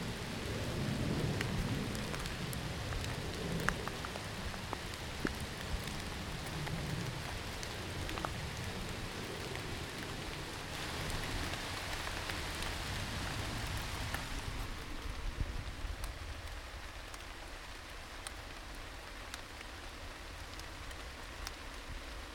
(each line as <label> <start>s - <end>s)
aeroplane overhead 0.0s - 16.6s
rain 0.0s - 22.3s